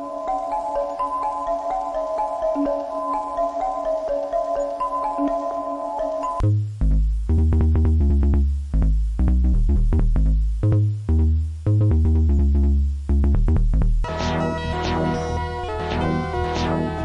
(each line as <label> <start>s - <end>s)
Beats 6.4s - 17.0s